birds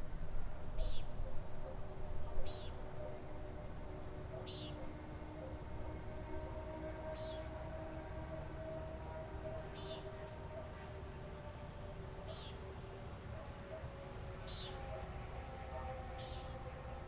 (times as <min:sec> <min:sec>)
0:04.4 0:04.9